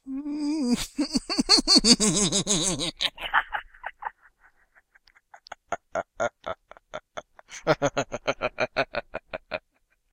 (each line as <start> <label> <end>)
0.7 Evil Laugh 9.7